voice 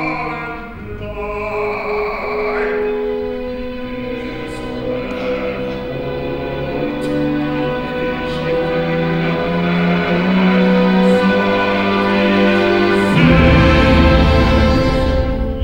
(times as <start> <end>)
0.0 9.5